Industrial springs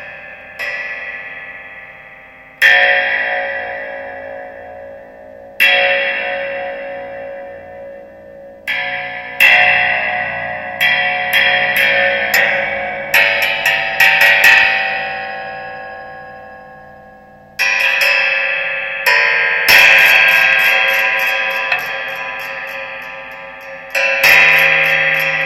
17.0 25.4

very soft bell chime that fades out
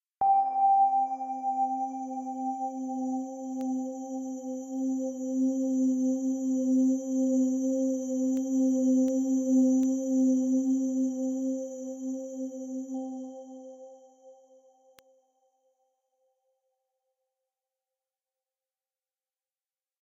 0.2 4.2

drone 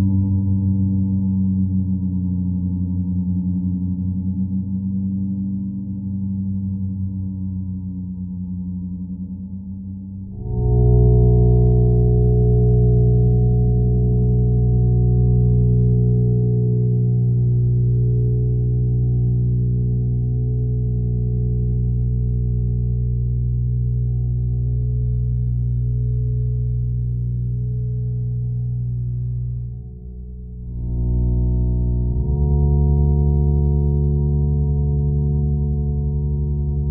10.1 36.9

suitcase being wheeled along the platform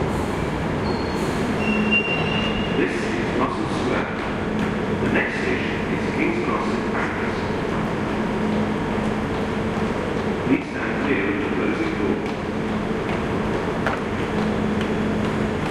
11.8 15.7

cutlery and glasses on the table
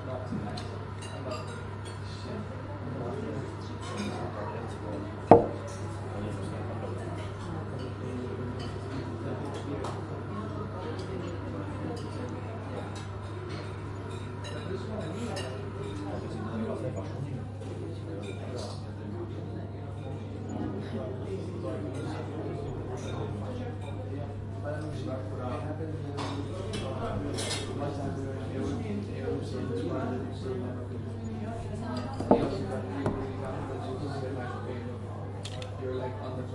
27.3 27.7, 32.0 33.3

